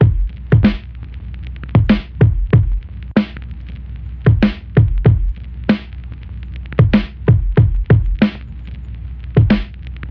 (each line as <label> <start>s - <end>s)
Kick 0.0s - 0.8s
Vinyl Static 0.0s - 10.1s
Snare 0.6s - 0.9s
Snare 1.9s - 2.2s
Snare 3.2s - 3.5s
Kick 4.3s - 5.4s
Snare 4.4s - 4.8s
Snare 5.7s - 6.0s
Kick 6.8s - 8.3s
Snare 6.9s - 7.3s
Snare 8.2s - 8.6s
Snare 9.4s - 10.1s